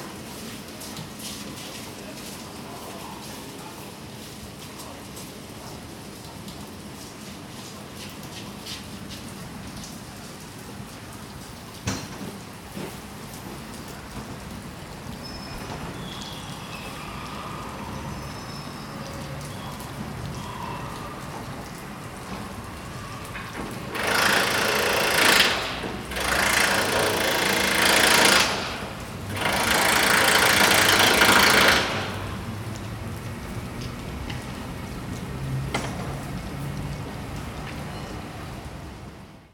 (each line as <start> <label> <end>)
7.0 Construction Work 16.6
21.2 Construction Work 38.2